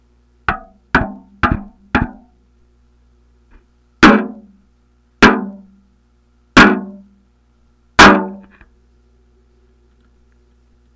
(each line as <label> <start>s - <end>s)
metal can hits 4.0s - 4.5s
metal can hits 5.2s - 5.6s
metal can hits 6.6s - 7.0s
metal can hits 8.0s - 8.5s